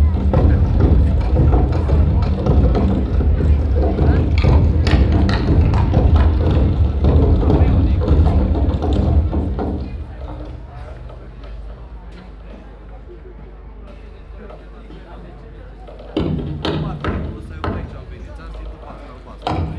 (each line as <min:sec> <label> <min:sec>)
0:00.0 french performance group 0:19.7